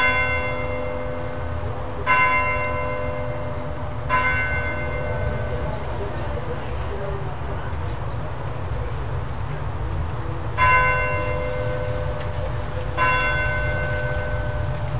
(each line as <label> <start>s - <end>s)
Church Bell 0.0s - 7.2s
Pub noise from inside the pub 3.0s - 14.9s
American accent from a passer by 4.5s - 14.5s
Rain 4.5s - 14.9s
Church Bell 10.5s - 14.9s